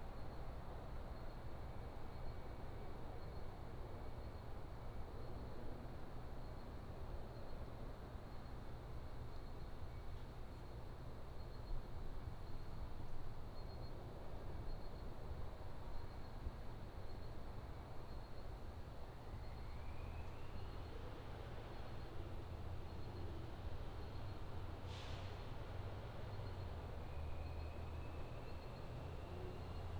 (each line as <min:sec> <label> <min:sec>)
0:19.6 Traffic 0:29.9